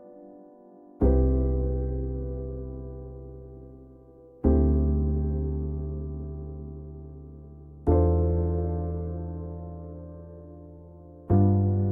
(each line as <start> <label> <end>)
0.0 piano 11.9